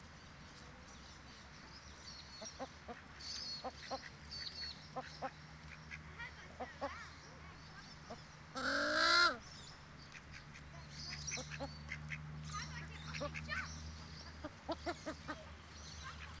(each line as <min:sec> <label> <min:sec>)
0:00.0 other birds 0:16.4
0:05.0 children in the background 0:09.4
0:10.1 children in the background 0:16.4